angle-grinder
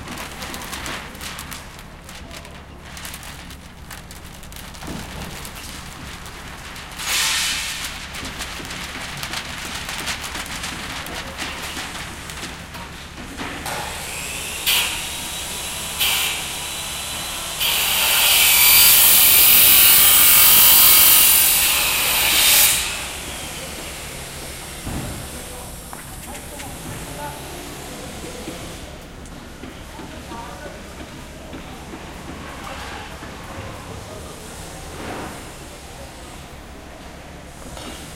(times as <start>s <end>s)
14.2s 23.5s